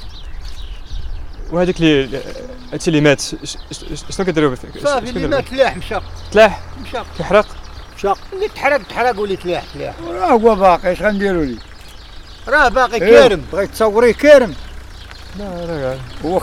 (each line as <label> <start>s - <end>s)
habitants du hameau parlent 1.3s - 16.4s